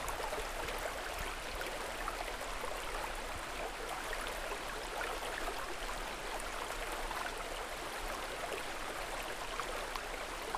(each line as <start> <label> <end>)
0.0 pure running water in a little river 10.5